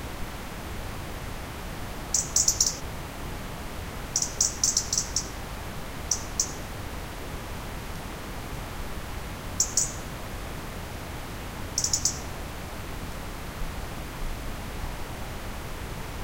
river 0:00.0 - 0:16.2
birdsongs 0:02.2 - 0:02.8
birdsongs 0:04.2 - 0:05.3
birdsongs 0:11.8 - 0:12.3

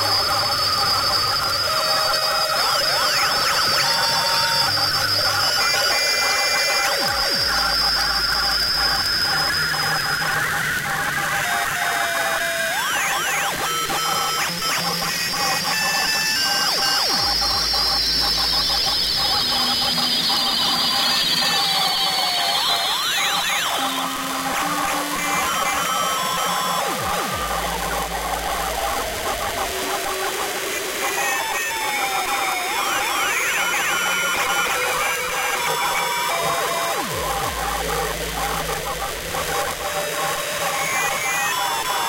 radio static 0:23.2 - 0:42.0

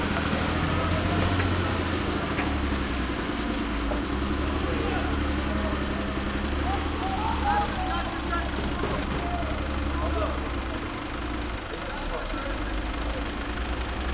frontloader move slowly 0:00.0 - 0:14.1
worker shouts 0:06.5 - 0:10.6

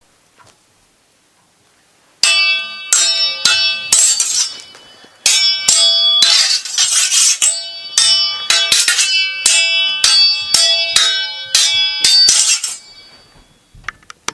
Sword Fight 0:02.2 - 0:13.1

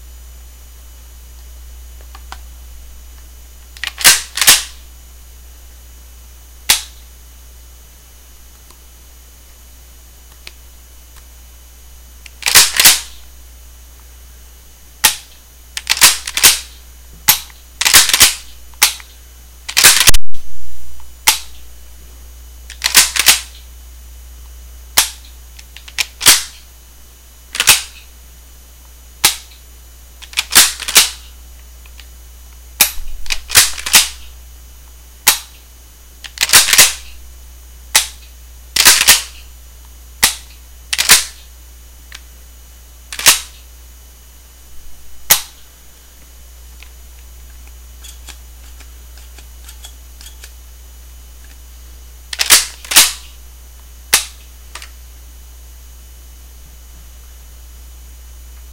Cocking 0:03.8 - 0:04.8
Cocking 0:12.3 - 0:13.2
Cocking 0:15.8 - 0:19.1
Cocking 0:19.7 - 0:20.4
Cocking 0:22.7 - 0:23.5
Cocking 0:25.8 - 0:26.6
Cocking 0:27.6 - 0:28.0
Cocking 0:30.2 - 0:31.3
Cocking 0:32.8 - 0:34.3
Cocking 0:36.3 - 0:37.1
Cocking 0:38.8 - 0:39.4
Cocking 0:40.2 - 0:41.4
shotgun being handled 0:41.0 - 0:41.3
Cocking 0:43.1 - 0:43.6
Cocking 0:45.3 - 0:45.6
shotgun being handled 0:52.3 - 0:53.2
Cocking 0:52.3 - 0:53.3

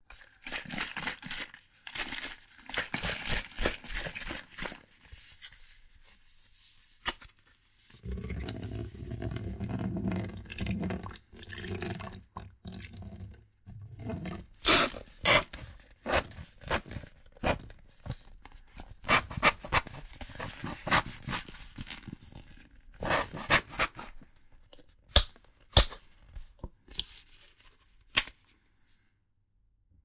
PLAYING WITH TUBES AND WATER 0:00.0 - 0:05.0
PLAYING WITH TUBES AND WATER 0:08.0 - 0:16.3

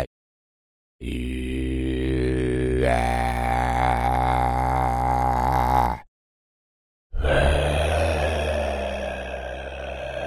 Low raspy male groans 0:01.0 - 0:06.1
Low raspy male groans 0:07.2 - 0:10.2
breathy portions 0:07.2 - 0:10.2

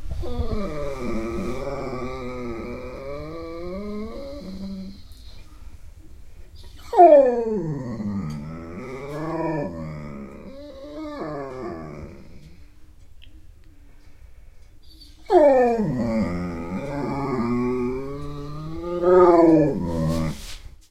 impatient, groaning moan 0:00.2 - 0:05.2
impatient, groaning moan 0:06.9 - 0:12.7
impatient, groaning moan 0:15.3 - 0:20.4

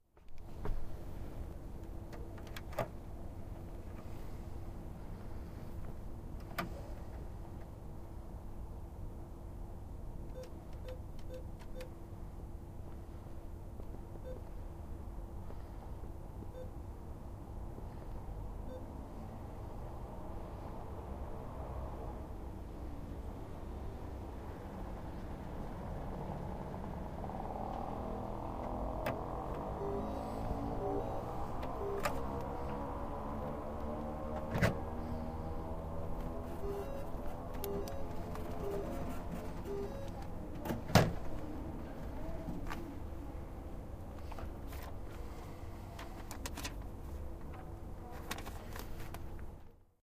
moped is passing 0:26.0 - 0:40.0
receipt 0:36.5 - 0:40.3
breath 0:45.1 - 0:46.3

